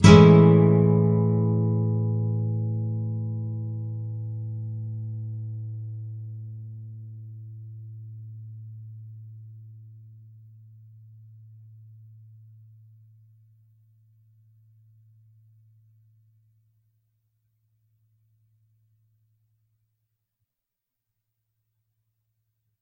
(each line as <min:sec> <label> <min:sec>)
0:00.0 nylon guitar 0:12.7